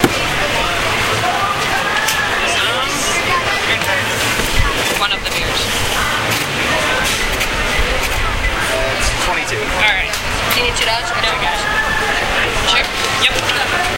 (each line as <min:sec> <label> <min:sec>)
0:00.0 buying a beer 0:13.9